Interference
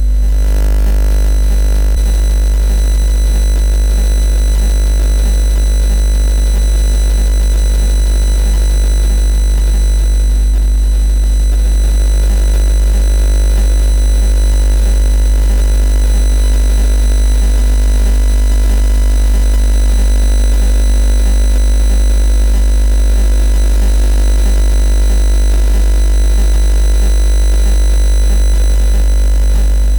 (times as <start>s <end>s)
0.0s 14.0s, 25.8s 29.9s